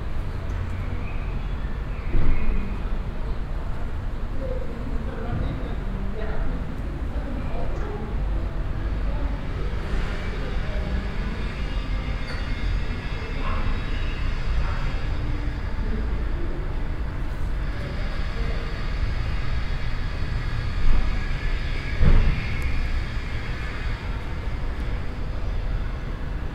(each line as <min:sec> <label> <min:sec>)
0:00.0 people pass by under the reverbing construction 0:26.5